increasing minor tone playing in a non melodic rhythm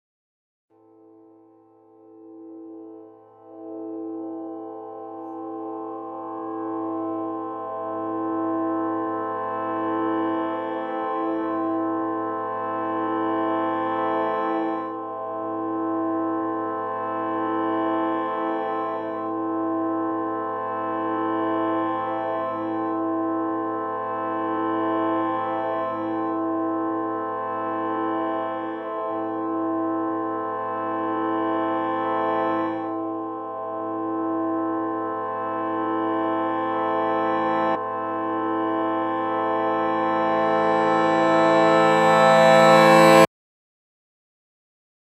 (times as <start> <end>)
40.3 43.3